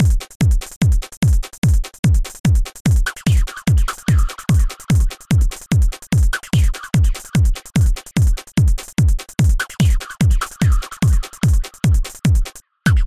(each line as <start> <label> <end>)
0.0 steady dance beat 13.0